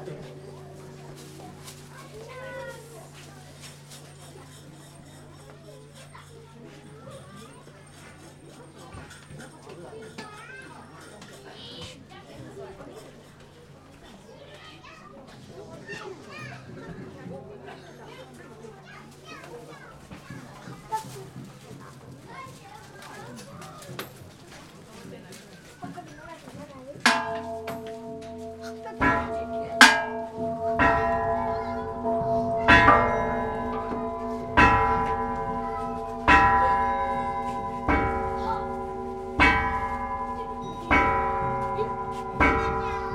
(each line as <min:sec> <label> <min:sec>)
0:25.7 drums 0:43.1
0:27.0 Gongs 0:43.1
0:27.1 chimes 0:43.1